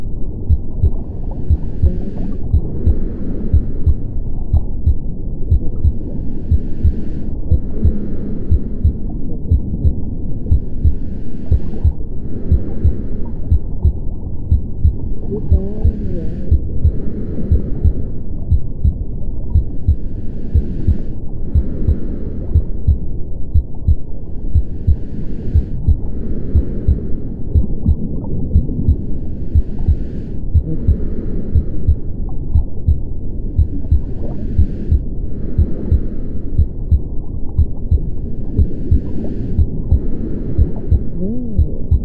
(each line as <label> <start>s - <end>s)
heart beat at 60 bpm 0.0s - 42.0s
recording of my breathing 0.0s - 42.0s
underwater sounds 0.0s - 42.0s
muffled sound of a female voice reading a story 1.6s - 3.0s
muffled sound of a female voice reading a story 7.5s - 8.5s
muffled sound of a female voice reading a story 15.1s - 16.6s
muffled sound of a female voice reading a story 30.6s - 31.2s
muffled sound of a female voice reading a story 40.9s - 42.0s